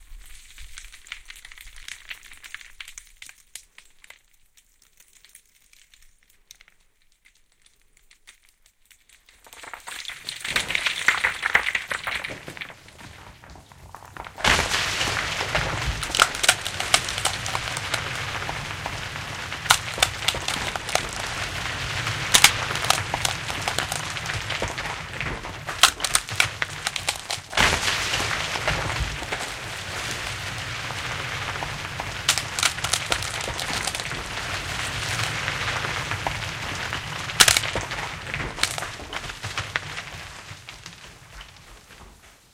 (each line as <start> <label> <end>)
0.0 Landslide 42.5